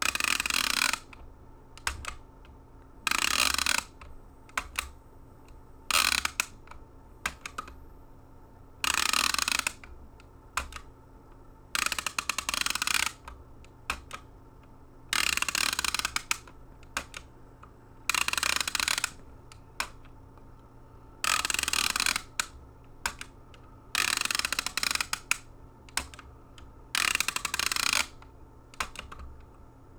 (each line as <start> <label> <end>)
0.0 desk call phone holder ratcheting 1.2
3.1 desk call phone holder ratcheting 4.9
5.9 desk call phone holder ratcheting 6.5
8.8 desk call phone holder ratcheting 9.8
18.1 desk call phone holder ratcheting 19.2
21.2 desk call phone holder ratcheting 22.5
23.9 desk call phone holder ratcheting 25.4
26.9 desk call phone holder ratcheting 28.2